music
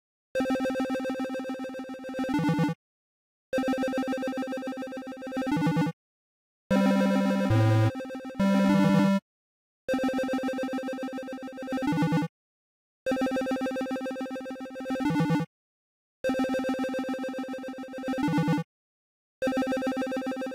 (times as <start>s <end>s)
3.6s 5.8s, 6.7s 9.2s, 9.9s 12.0s, 19.5s 20.5s